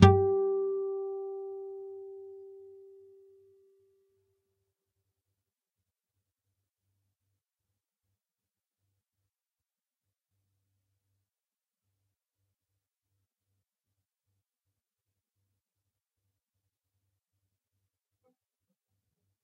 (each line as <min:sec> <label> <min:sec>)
0:00.0 nylon guitar 0:03.2